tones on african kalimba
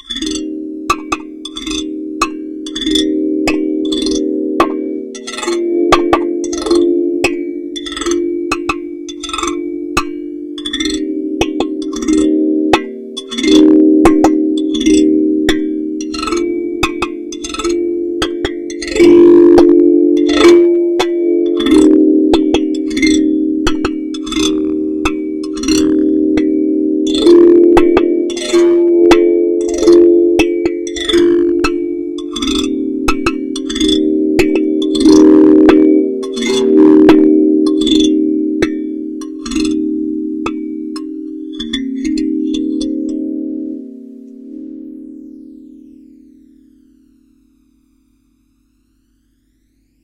10.8 45.0

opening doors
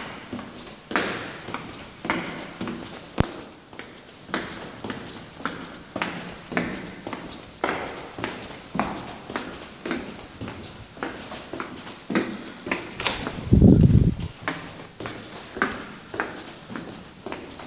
13.0 13.6

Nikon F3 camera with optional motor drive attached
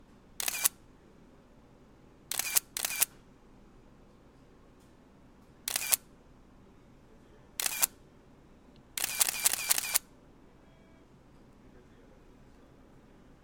0.4 0.8, 2.3 3.1, 5.7 6.0, 7.6 8.0, 9.0 10.0

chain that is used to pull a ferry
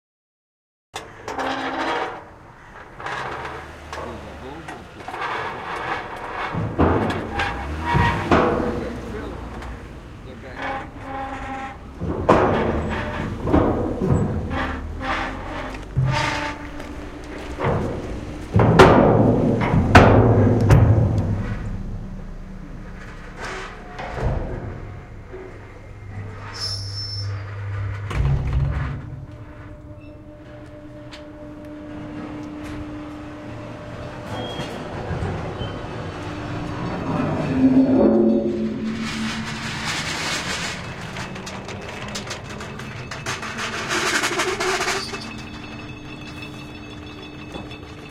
36.8 48.1

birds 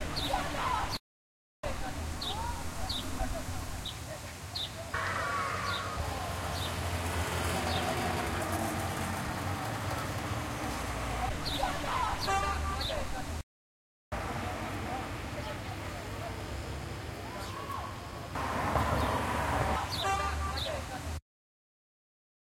2.2 7.0, 18.8 20.9

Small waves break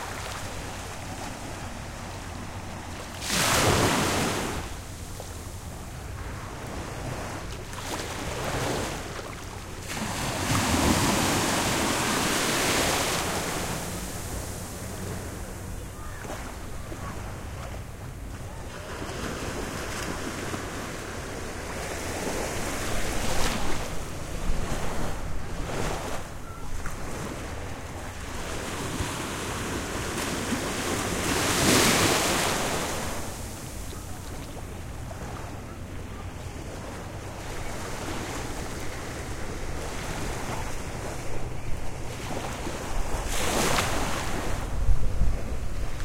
0.0 4.8, 6.3 17.8, 36.5 44.7

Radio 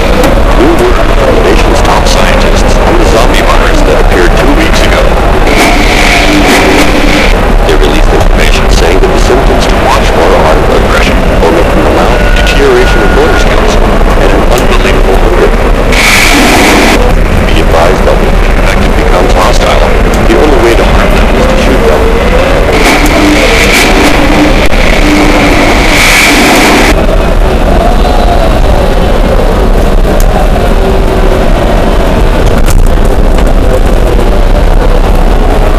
0.0 27.0

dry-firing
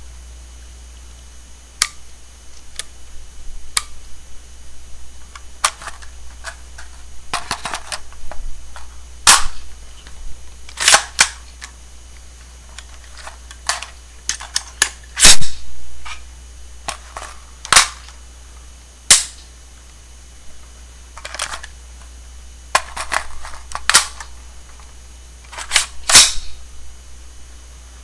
9.2 9.7, 10.7 11.7, 12.8 15.6, 22.7 24.4, 25.5 26.6

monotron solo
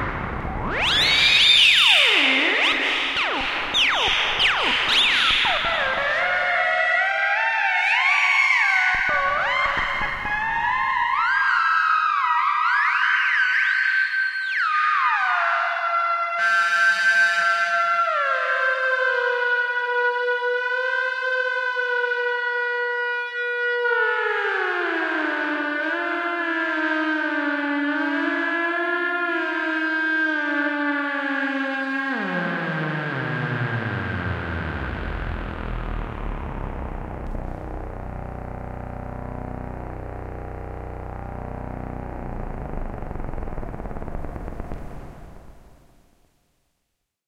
0.0 13.0, 32.1 46.1

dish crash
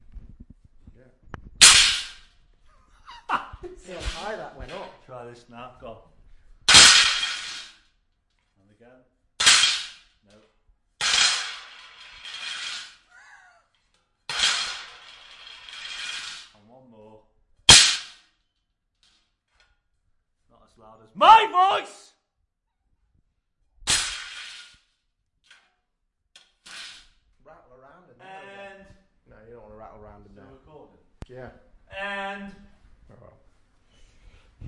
1.6 2.3, 3.8 5.0, 6.7 7.8, 9.4 10.0, 11.0 13.1, 14.3 16.6, 17.7 18.2, 23.9 24.8

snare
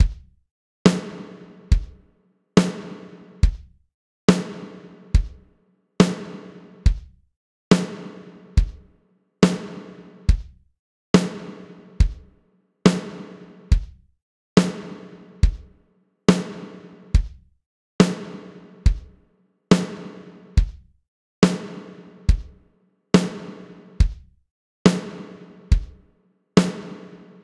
0.9 1.6, 2.6 3.4, 6.0 6.8, 9.4 10.4, 12.9 13.7, 14.6 15.3, 16.3 17.1, 18.0 18.7, 19.7 20.5, 23.2 24.2, 24.9 25.7, 26.6 27.4

